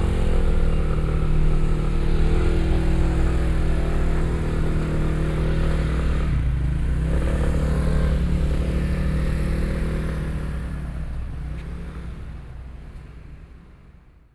walking in the street 0.0 - 14.3

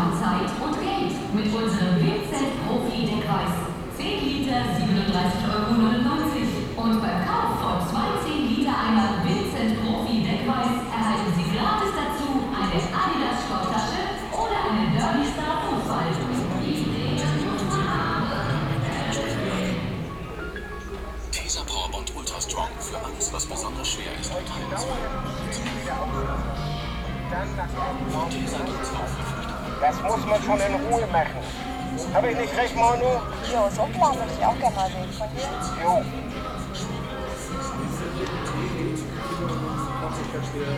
customers in the corridors 0.0 - 40.7
different advertising monitors 14.4 - 40.7

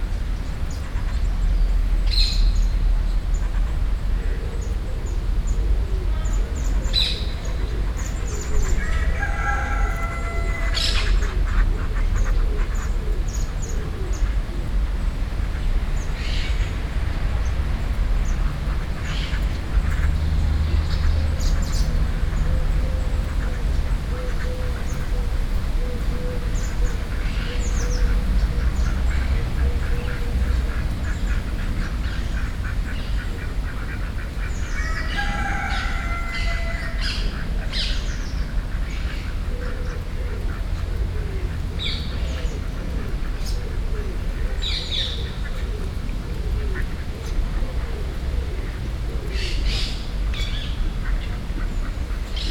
Ducks 0.6 - 4.7
Ducks 5.5 - 14.8
Cock 8.8 - 11.2
Ducks 15.4 - 52.5
Cock 34.8 - 37.2

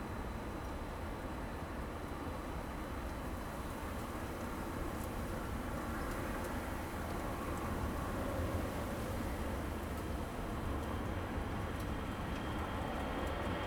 wind 0.0 - 13.6

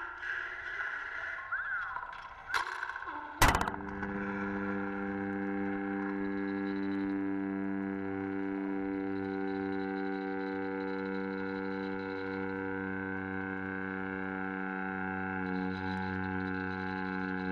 cable tensioning 2.5 - 7.0

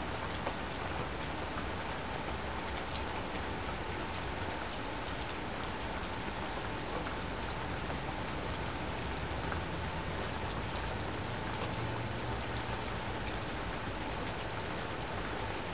Rain falling on the trees, deck and ground 0.0 - 15.7
water in the gutters overcomes the pine needles 0.1 - 15.7

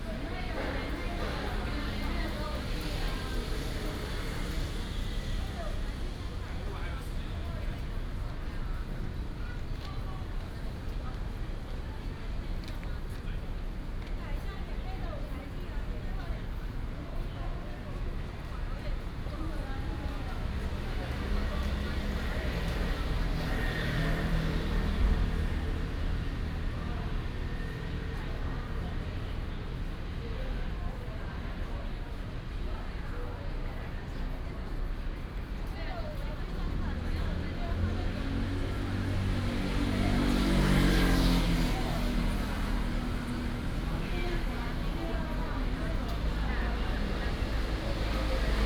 Many tourists 0.0 - 48.6
traffic sound 18.2 - 48.6

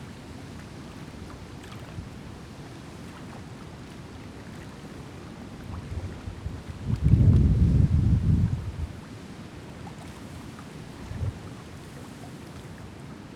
water lapping against the rocks 0.0 - 13.0

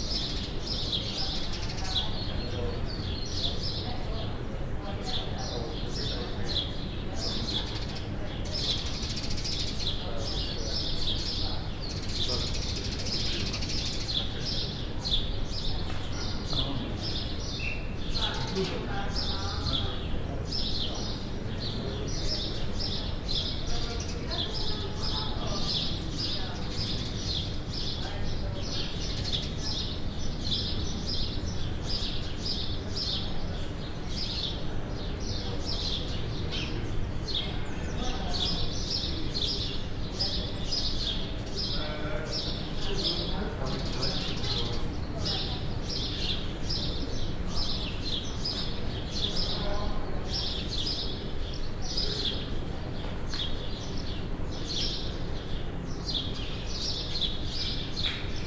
bird 0.0 - 58.4
people walk 52.6 - 54.7

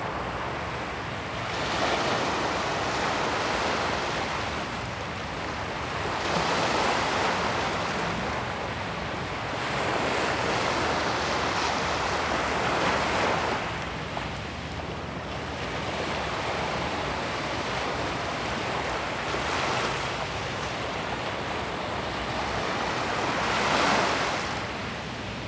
the waves 0.0 - 25.4

